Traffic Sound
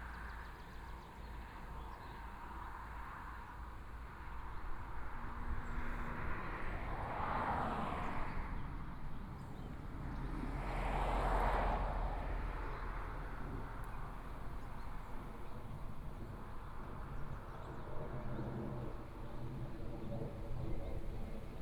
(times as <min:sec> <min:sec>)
0:09.7 0:17.1